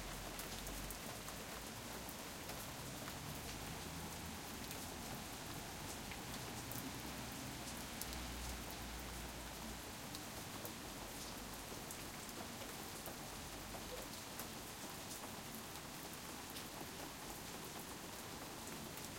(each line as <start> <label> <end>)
0.0 Soft Rain 19.1